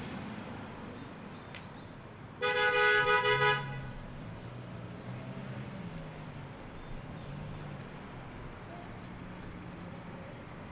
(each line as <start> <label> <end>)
0.7 Birds 2.4